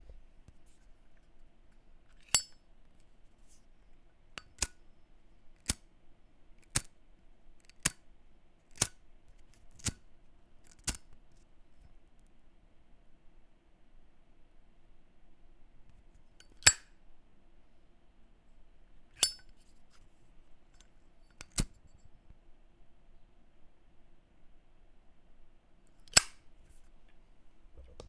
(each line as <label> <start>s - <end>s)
Opening, lighting and closing a zippo lighter 2.1s - 2.6s
Opening, lighting and closing a zippo lighter 4.4s - 4.8s
Opening, lighting and closing a zippo lighter 5.6s - 5.8s
Opening, lighting and closing a zippo lighter 6.6s - 6.9s
Opening, lighting and closing a zippo lighter 7.6s - 8.0s
Opening, lighting and closing a zippo lighter 8.7s - 10.0s
Opening, lighting and closing a zippo lighter 10.6s - 11.2s
Opening, lighting and closing a zippo lighter 16.4s - 16.9s
Opening, lighting and closing a zippo lighter 19.2s - 19.6s
Opening, lighting and closing a zippo lighter 21.3s - 21.8s
Opening, lighting and closing a zippo lighter 26.0s - 26.4s